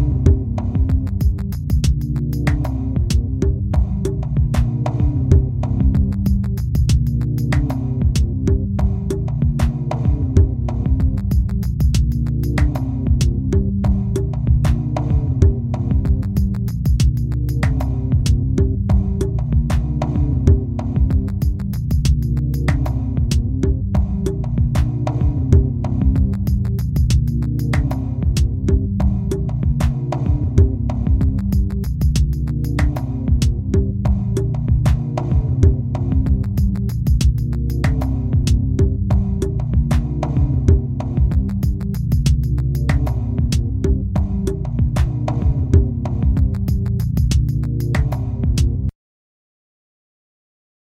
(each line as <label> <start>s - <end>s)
mumbling bass rhythms 0.0s - 48.9s